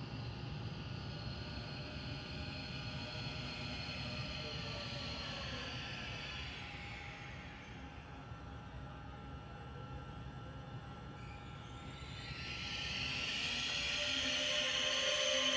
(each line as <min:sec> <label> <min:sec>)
0:11.2 Train coming into the underground station 0:15.5